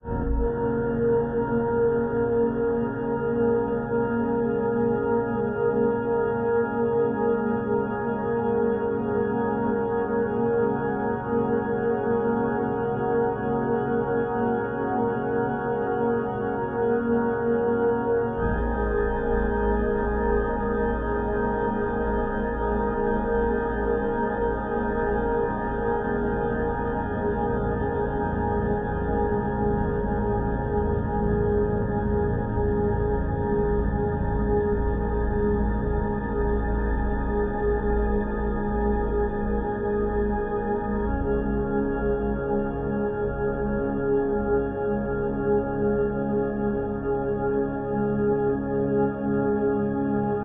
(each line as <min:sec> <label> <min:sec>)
0:00.0 Drone 0:02.9
0:18.3 Drone 0:44.0